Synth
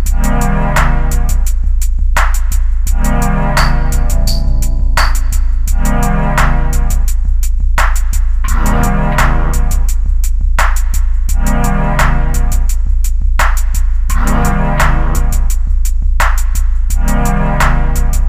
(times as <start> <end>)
2.9 7.0